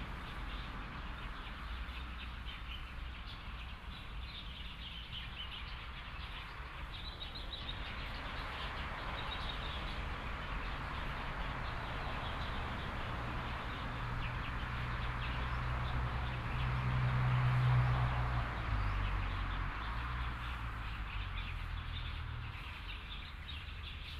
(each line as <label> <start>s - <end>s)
Birds 0.0s - 24.1s
Traffic Sound 6.5s - 24.1s